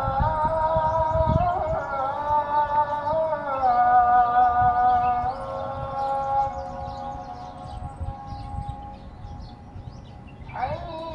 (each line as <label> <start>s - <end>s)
Muezzin 0.0s - 11.1s
birds 0.0s - 11.1s
wind 0.0s - 11.1s